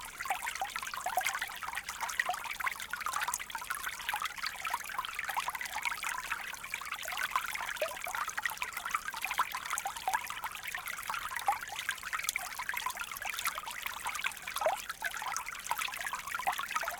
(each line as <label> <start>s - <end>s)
small stream detailed subtle 0.0s - 16.9s